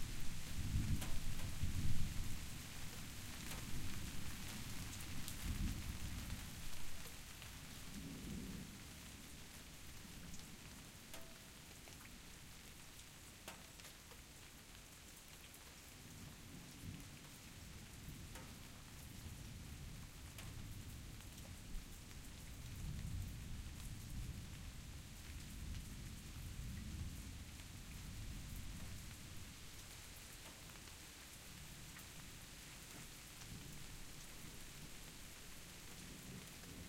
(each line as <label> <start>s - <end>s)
rain 0.0s - 36.8s